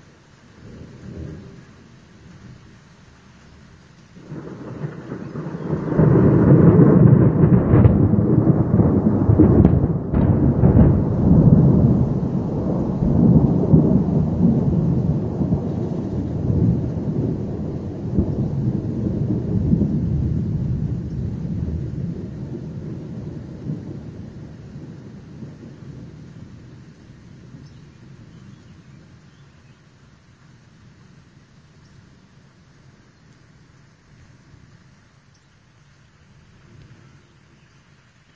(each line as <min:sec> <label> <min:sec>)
0:00.0 light rain 0:38.3
0:00.6 rolling thunder 0:02.7
0:04.2 rolling thunder 0:29.3